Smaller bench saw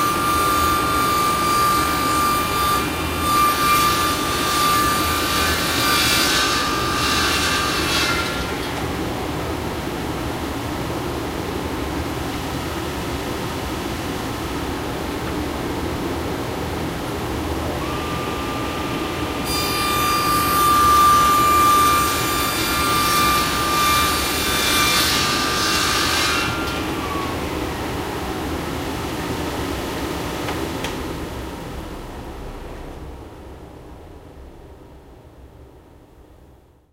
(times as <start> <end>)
0.0 9.0, 17.8 27.7